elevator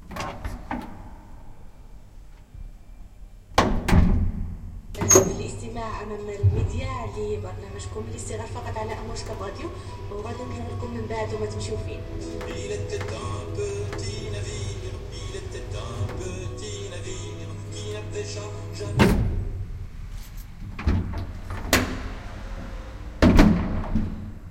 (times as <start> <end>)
5.0 19.7, 20.6 24.5